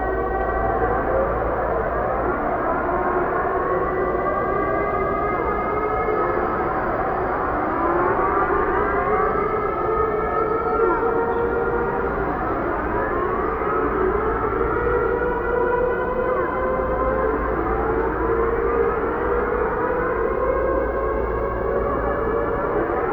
Sirens 0.0 - 23.1

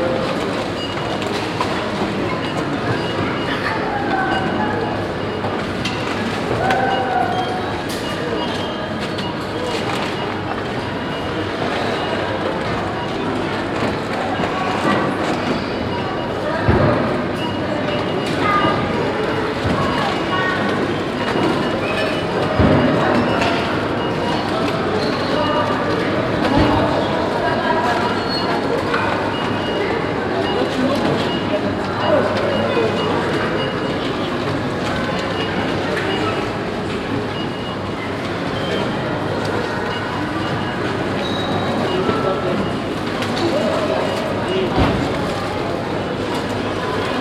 trolleys 0.0 - 47.2
peeping of the electronic cash tills 0.1 - 16.4
peeping of the electronic cash tills 17.4 - 44.8

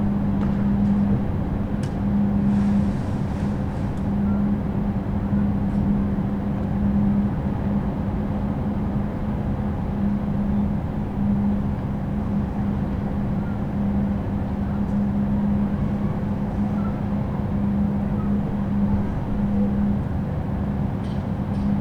outside ventilation of the adjacent supermarket 0.0 - 21.8

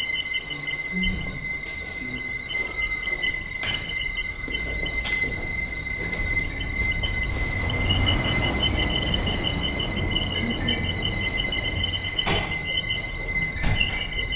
people entering the room, talking 0.0 - 14.3

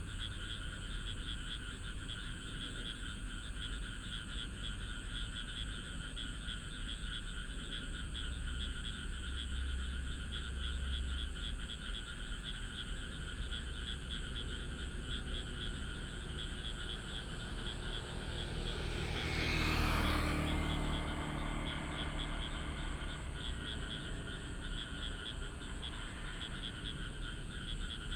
Traffic sound 12.6 - 28.1
Frog sound 13.1 - 28.1

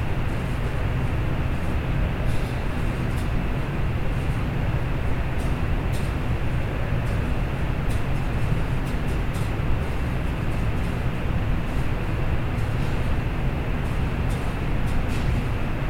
Windy alley 0.0 - 15.8

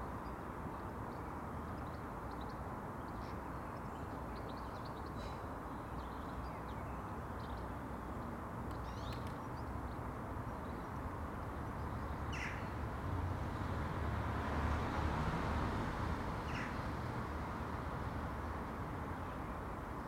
distant calls of Jackdaws 1.8 - 7.6
distant calls of Jackdaws 8.7 - 9.7
distant calls of Jackdaws 11.6 - 12.8
distant calls of Jackdaws 16.4 - 16.9

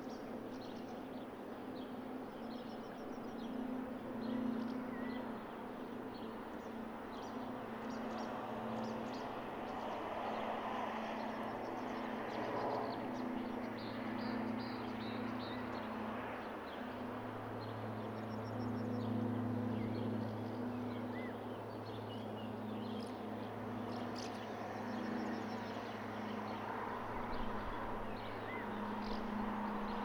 small aircraft passes overhead 0.0 - 30.0
couple of cars passing by 22.8 - 30.0

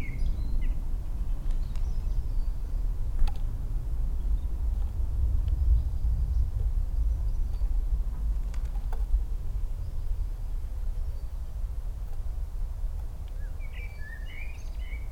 blackbird 0.0 - 3.4
birdsong 0.0 - 15.1
general rumble of traffic 0.0 - 15.1
blackbird 13.0 - 15.1

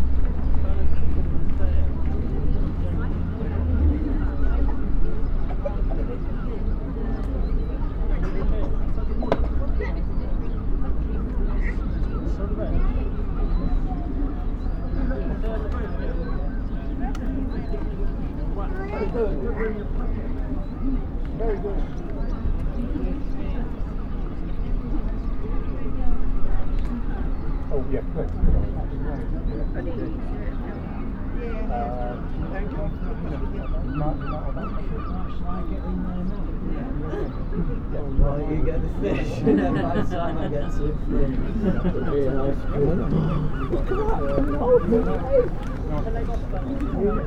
Passers-by talk 0.0 - 47.2
children play 39.3 - 47.2

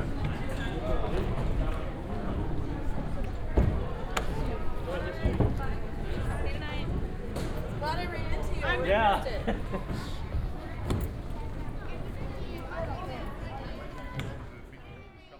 steps of tourists boom and reverberate 0.0 - 15.3
tourists and guides of all nationalities move slowly 0.0 - 15.3

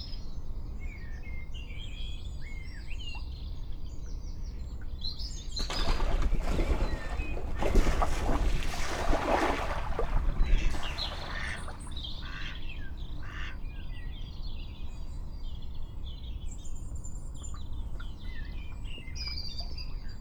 Mallard sparring and mating 5.6 - 11.8

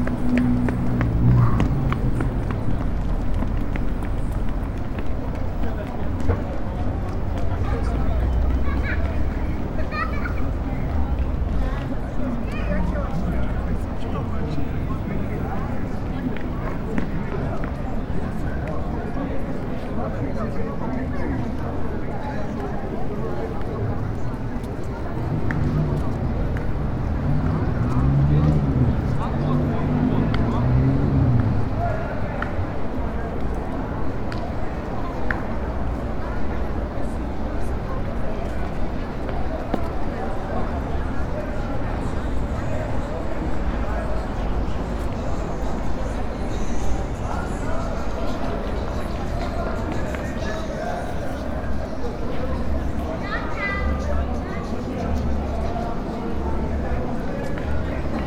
street vendors 0.0 - 58.2
vehicles 0.0 - 58.2
voices 0.0 - 58.2
wind 0.0 - 58.2

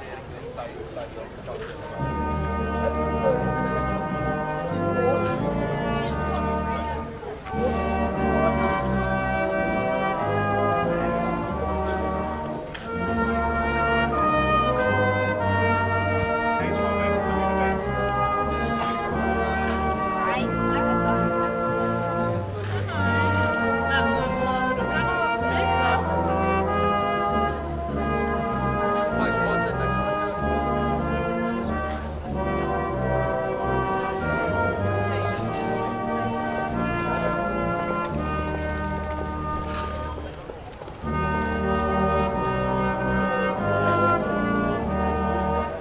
orchestra in the street 0.0 - 45.8

